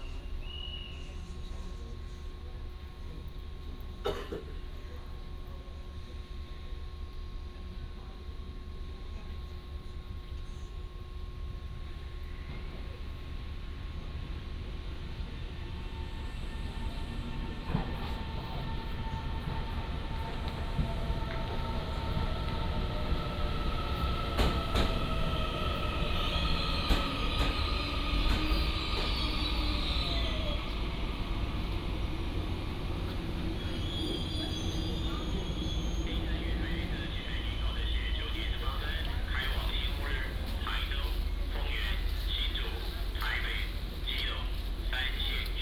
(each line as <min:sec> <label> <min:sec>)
0:00.0 Train arrives and leaves 0:45.6
0:11.4 train passes by 0:45.6
0:34.6 Station Message Broadcast 0:45.6